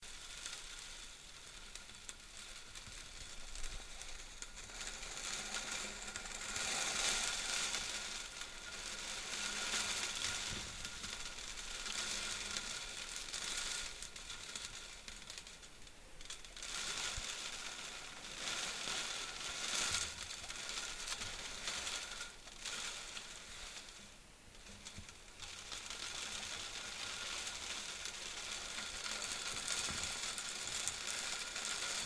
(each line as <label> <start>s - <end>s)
rain 0.0s - 32.0s